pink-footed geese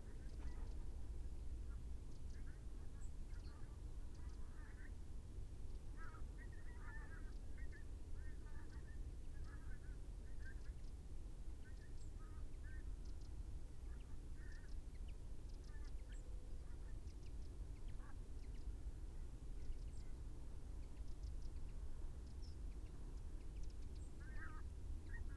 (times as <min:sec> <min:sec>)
0:06.0 0:07.2, 0:24.2 0:24.6